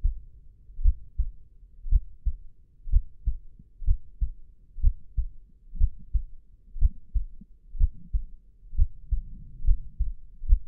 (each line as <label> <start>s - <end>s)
heartbeat 0.0s - 0.2s
heartbeat 0.8s - 10.6s